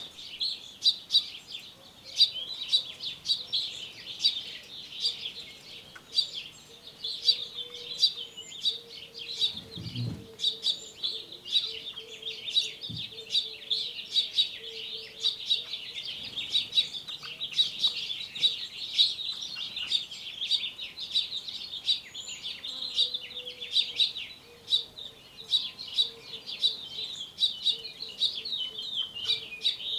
Birds flying to and from feeder 0:09.3 - 0:10.8
Birds flying to and from feeder 0:15.7 - 0:21.8

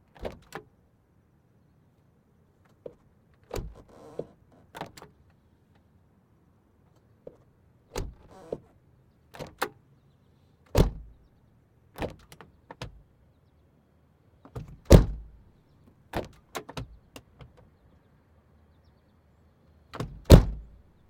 trunk being opened and closed 0:00.2 - 0:00.6
trunk being opened and closed 0:02.8 - 0:05.1
trunk being opened and closed 0:07.3 - 0:08.7
trunk being opened and closed 0:10.7 - 0:11.1
trunk being opened and closed 0:14.5 - 0:15.4
trunk being opened and closed 0:16.1 - 0:17.6
trunk being opened and closed 0:20.0 - 0:20.8

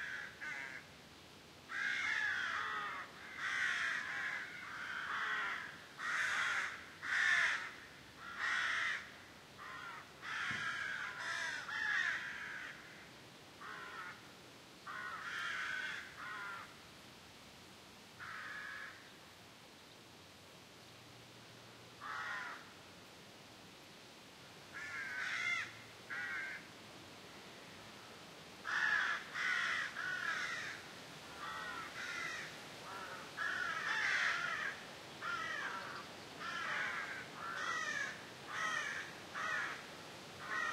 lot of wind 0:00.0 - 0:40.7
crows flying and cawing over their nests 0:00.0 - 0:00.9
crows flying and cawing over their nests 0:01.7 - 0:14.3
crows flying and cawing over their nests 0:14.9 - 0:16.8
crows flying and cawing over their nests 0:18.2 - 0:19.1
crows flying and cawing over their nests 0:22.0 - 0:22.7
crows flying and cawing over their nests 0:24.7 - 0:26.7
crows flying and cawing over their nests 0:28.6 - 0:40.7

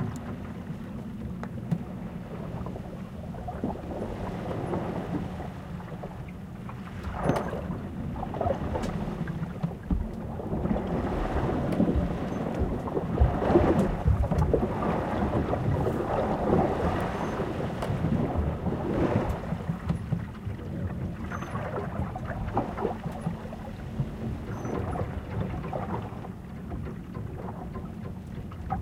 sailing ship 0:00.0 - 0:28.8
waves 0:00.0 - 0:28.8

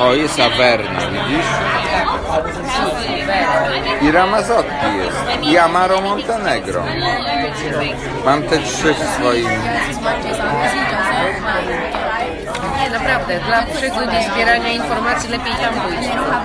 chatter 0:00.0 - 0:16.4

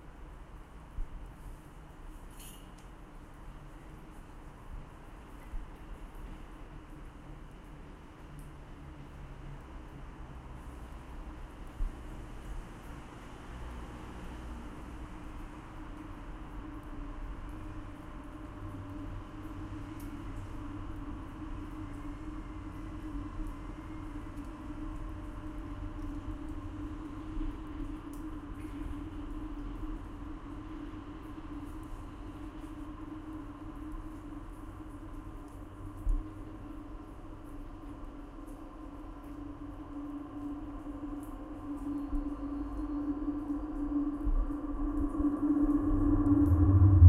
Internal sounds of the rail-line 0:00.0 - 0:47.0

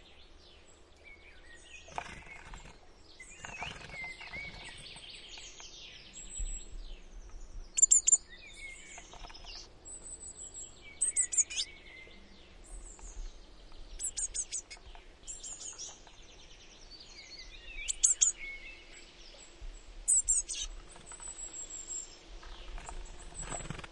other birds 0:00.0 - 0:23.9
Wings 0:01.8 - 0:05.1
bird mother calling 0:11.0 - 0:11.7
bird mother calling 0:17.8 - 0:18.4
bird mother calling 0:20.1 - 0:20.7
Wings 0:22.4 - 0:23.9

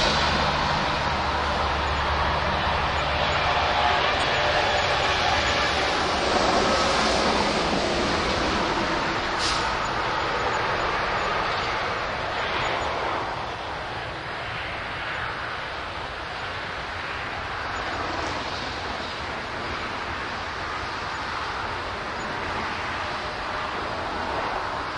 traffic 0:00.0 - 0:24.9

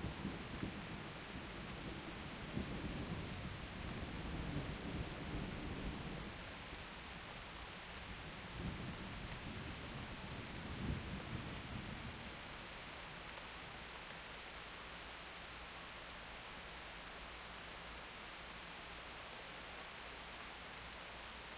rain 0:00.0 - 0:21.5
wind 0:00.0 - 0:21.5

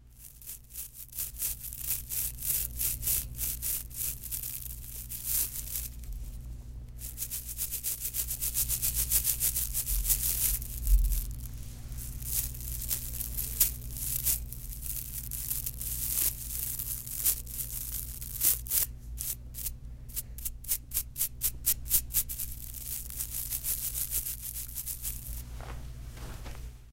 Rubbing tooth brushes against each other 0:00.0 - 0:06.4
Rubbing tooth brushes against each other 0:07.0 - 0:25.4

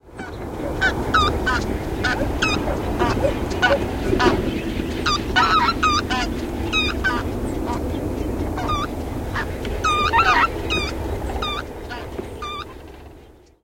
geese 0:00.1 - 0:12.8

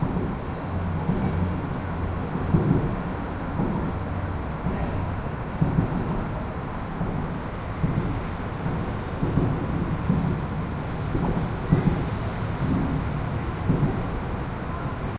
cars passing through the joints of an elevated highway 0:00.0 - 0:15.1

